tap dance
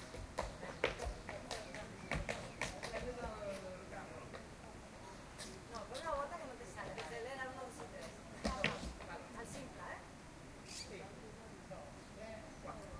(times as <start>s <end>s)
0.0s 3.7s, 7.8s 9.1s